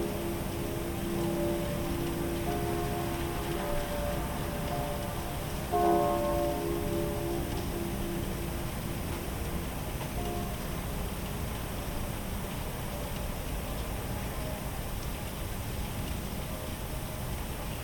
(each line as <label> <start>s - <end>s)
Church Bells 0.0s - 13.2s
Icy Sharp Rain 0.0s - 17.8s
Sounds From The Streets 0.0s - 17.8s